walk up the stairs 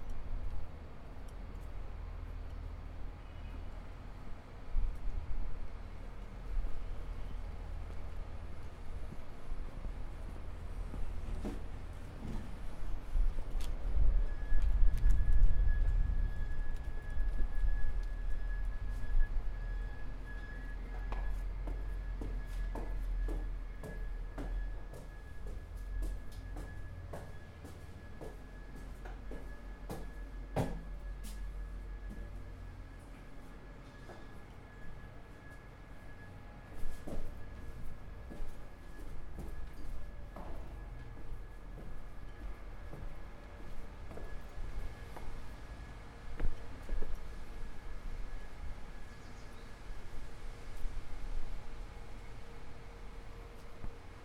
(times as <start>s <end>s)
7.7s 47.4s